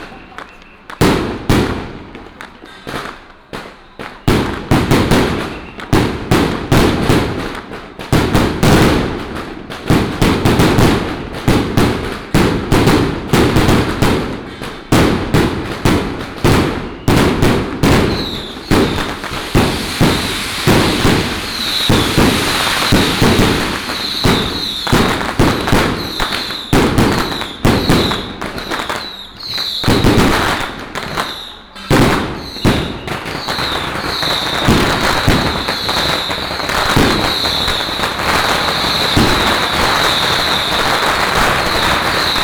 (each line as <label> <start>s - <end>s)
Crowded crowd 0.0s - 5.9s
Fireworks and firecrackers sound 0.0s - 42.4s